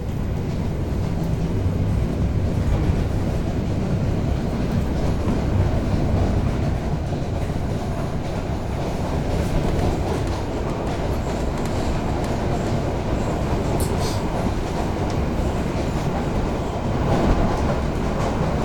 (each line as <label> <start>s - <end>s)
Inside train passing through 0.0s - 18.6s